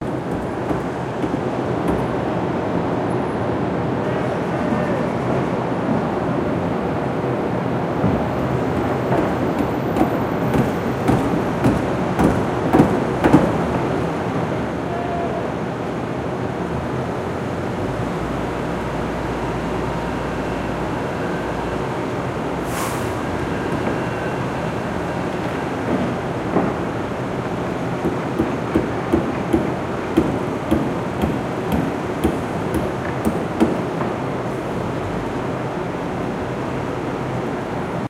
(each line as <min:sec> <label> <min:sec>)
0:00.0 hammering 0:02.3
0:08.1 hammering 0:13.8
0:28.0 hammering 0:34.2